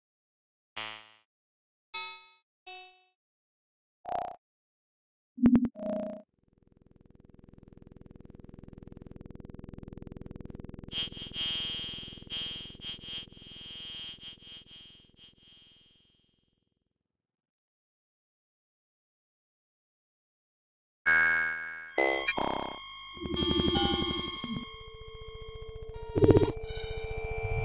21.1s additive synthesis with controlled parameters 27.6s

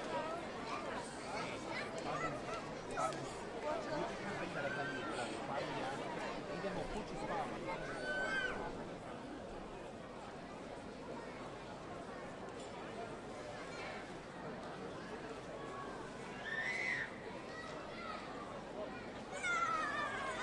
0.0s children 5.5s
0.0s people 20.4s
7.7s children 8.8s
15.7s children 20.4s

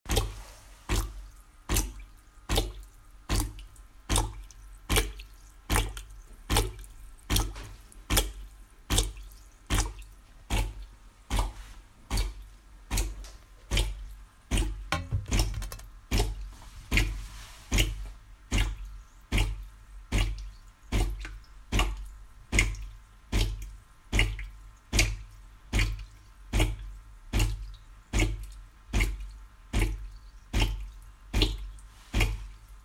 0.1s drips 32.8s
14.9s descaling my espresso maker 15.9s

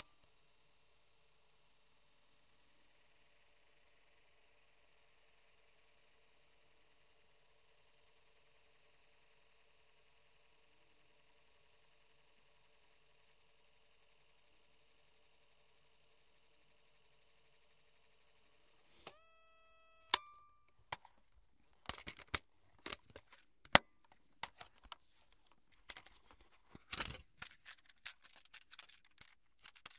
18.9s handheld cassette player 29.9s
20.9s removing the cassette from the case 29.9s

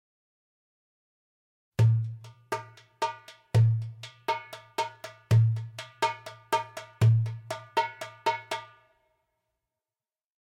1.8s darbuka 9.0s

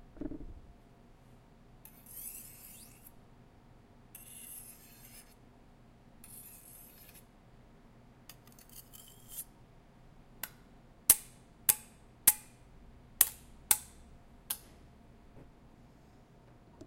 1.9s Knife Sharpening 3.1s
4.2s Knife Sharpening 5.4s
6.2s Knife Sharpening 7.2s
8.5s Knife Sharpening 9.5s

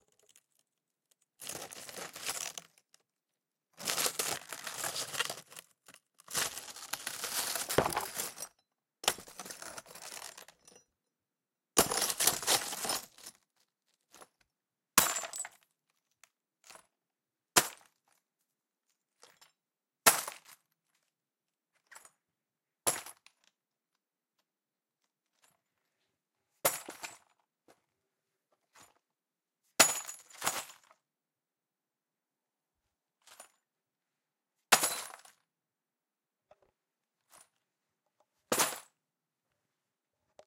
7.5s brick is dropped 5ft into glass 8.5s

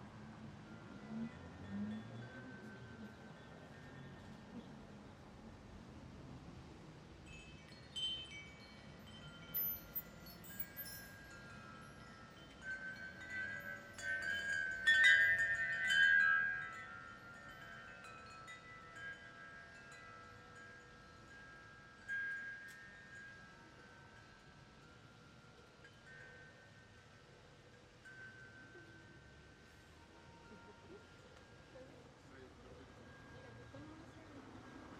0.0s wind chimes 34.9s

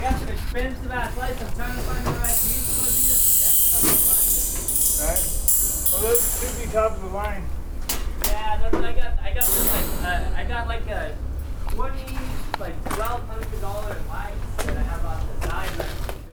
0.0s Scrapes 8.5s
0.0s Clanks 16.2s
0.0s Machines 16.3s
1.3s rattle 14.3s
1.6s Bangs 8.8s
9.4s Bangs 13.4s
9.4s Scrapes 16.3s

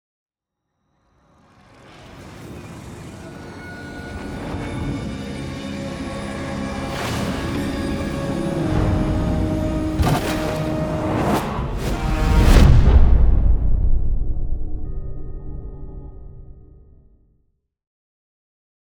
10.0s whoosh 15.0s
11.5s implosion 14.9s

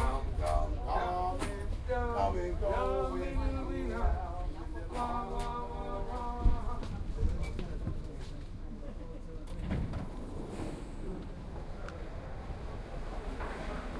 9.4s doors closing 13.9s
9.5s train departing 13.9s

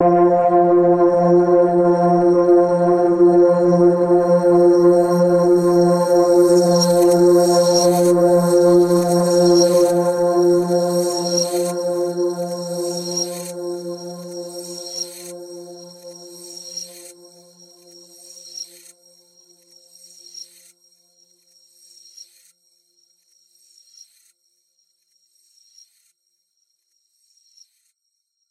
0.0s multi-sampled synth pad 16.3s

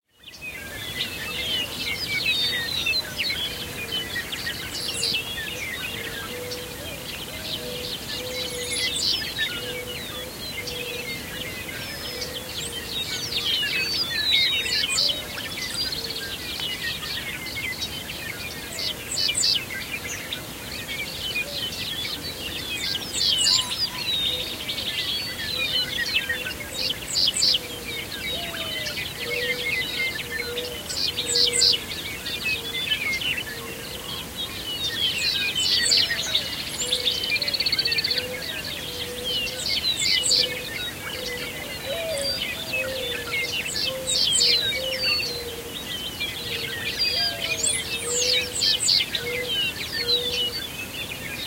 0.1s lots of other birds 51.4s
0.1s meadowlarks 51.4s
0.3s mourning doves 51.4s

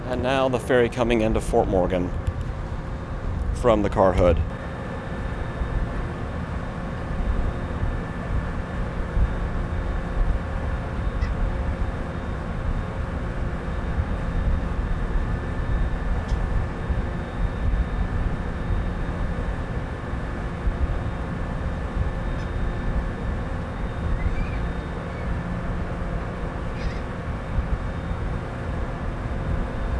0.0s passengers 4.9s
0.0s Ferry docking 29.9s
0.0s wind 29.9s
24.1s seagulls 25.4s
26.5s seagulls 27.2s

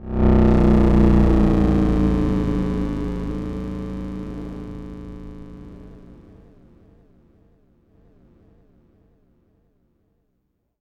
0.0s Analog Bass 6.4s

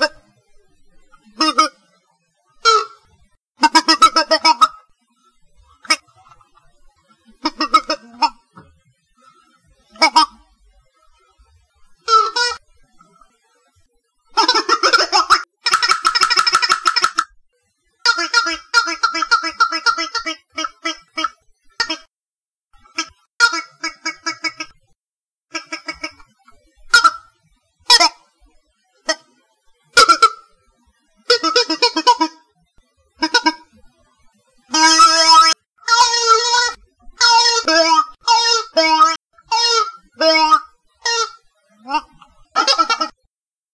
0.0s wah wah toy 0.2s
1.0s wah wah toy 1.9s
2.6s wah wah toy 5.1s
5.7s wah wah toy 10.6s
11.9s wah wah toy 13.3s
14.3s wah wah toy 17.4s
18.0s wah wah toy 22.1s
22.8s wah wah toy 24.9s
25.5s wah wah toy 28.3s
29.0s wah wah toy 29.3s
29.9s wah wah toy 30.5s
31.2s wah wah toy 32.5s
33.2s wah wah toy 33.8s
34.7s wah wah toy 43.3s

